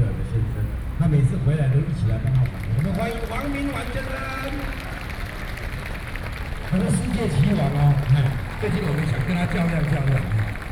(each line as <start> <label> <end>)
6.7 speech 10.5